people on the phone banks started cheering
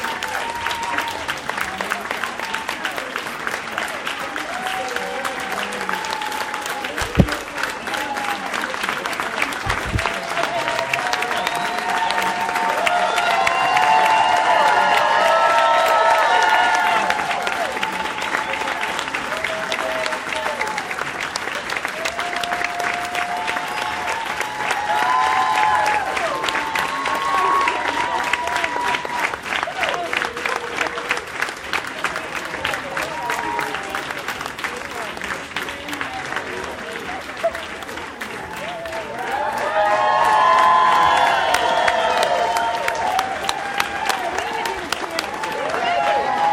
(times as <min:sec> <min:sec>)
0:09.6 0:20.8, 0:22.0 0:31.2, 0:38.5 0:46.5